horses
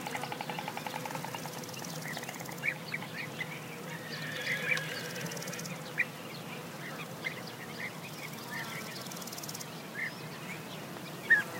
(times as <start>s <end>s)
4.1s 5.7s